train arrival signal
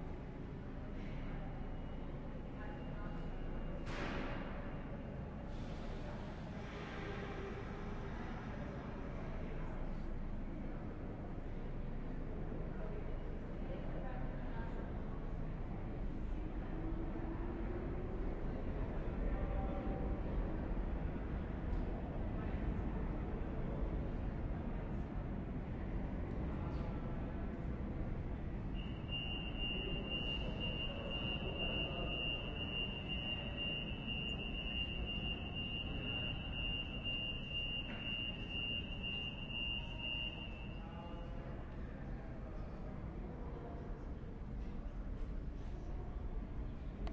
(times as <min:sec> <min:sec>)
0:28.8 0:41.2